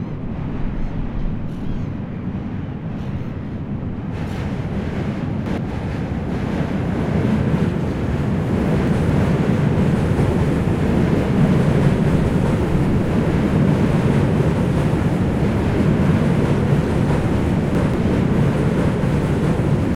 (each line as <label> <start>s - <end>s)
Train near river 0.0s - 19.9s